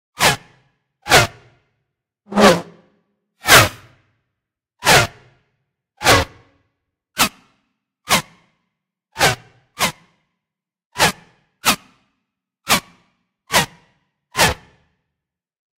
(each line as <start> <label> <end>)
3.5 Bullets whizzing by 3.9